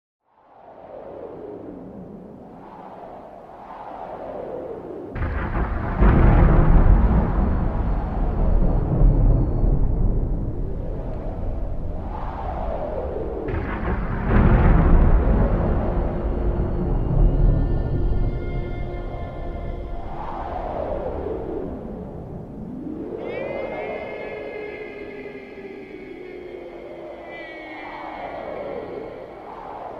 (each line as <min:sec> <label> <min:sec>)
0:00.2 wind 0:29.9